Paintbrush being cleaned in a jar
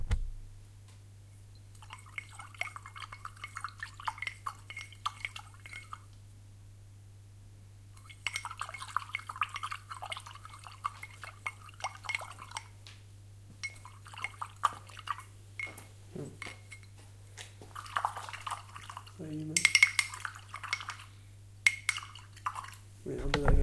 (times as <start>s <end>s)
1.7s 6.1s, 8.0s 12.7s, 13.6s 16.9s, 17.7s 22.8s